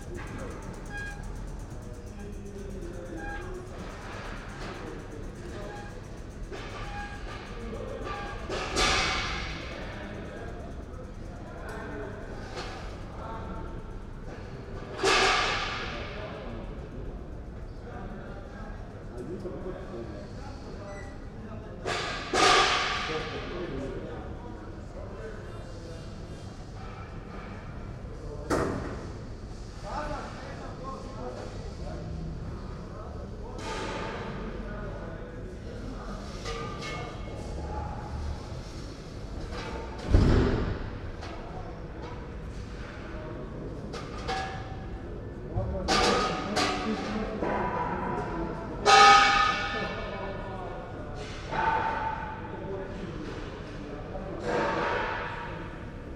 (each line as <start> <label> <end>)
0.0 workers install platforms and seating 10.4
14.2 workers install platforms and seating 16.6
21.8 workers install platforms and seating 23.8
35.7 workers install platforms and seating 50.0